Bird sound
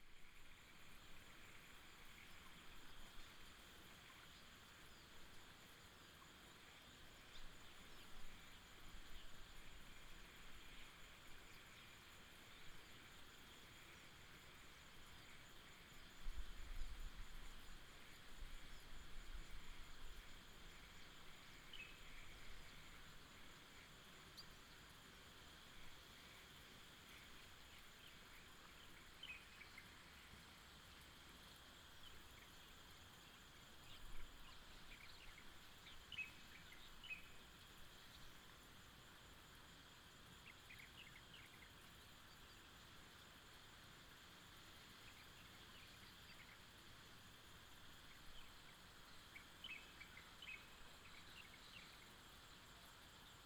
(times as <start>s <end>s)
48.0s 52.5s